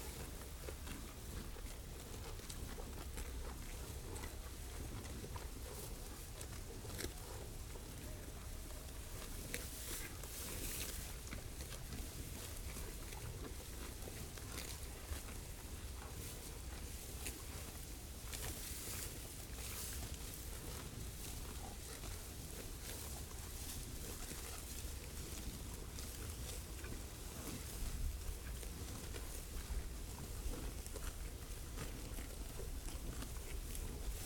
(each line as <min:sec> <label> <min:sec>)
0:00.0 cows chewing grass 0:34.2